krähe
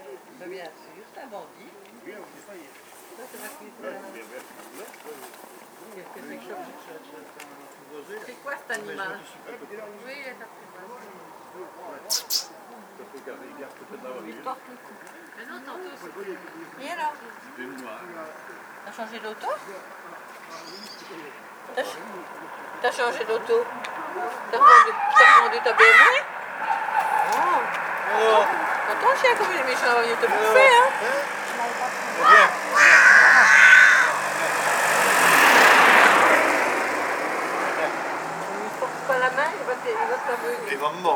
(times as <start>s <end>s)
12.1s 12.7s